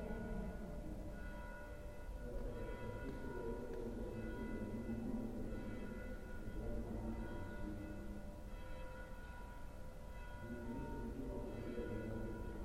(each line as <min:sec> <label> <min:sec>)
0:00.0 Bells 0:12.6